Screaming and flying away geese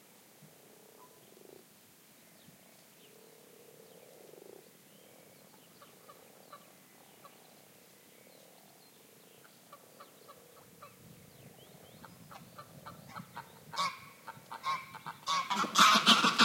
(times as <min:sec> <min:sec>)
0:12.6 0:16.4